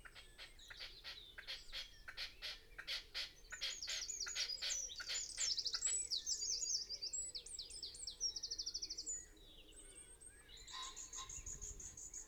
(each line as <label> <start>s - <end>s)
pheasant 0.0s - 6.6s
blackbird song 0.0s - 12.2s
pheasant 9.1s - 12.2s
willow warbler 10.5s - 12.2s
red-legged partridge calls 10.7s - 12.2s